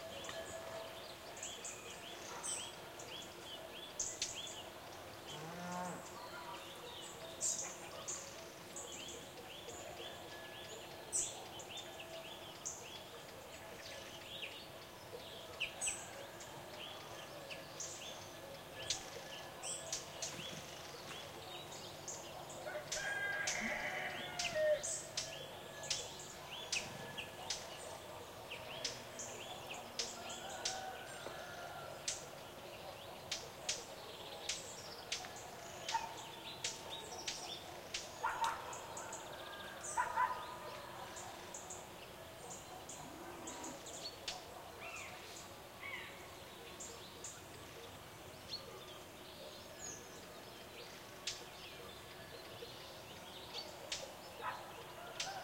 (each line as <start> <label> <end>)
0.0 bird tweets 55.4
22.7 rooster crowings 24.8
35.9 dog barkings 36.3
38.2 dog barkings 39.2
39.9 dog barkings 41.3
53.8 dog barkings 55.4